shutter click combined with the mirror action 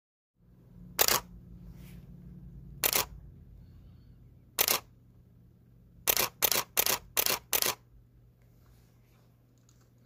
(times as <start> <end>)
4.6 4.9, 6.1 7.8